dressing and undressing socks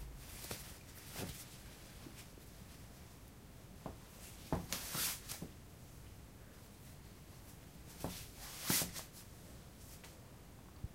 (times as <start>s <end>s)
3.8s 5.6s, 7.9s 10.2s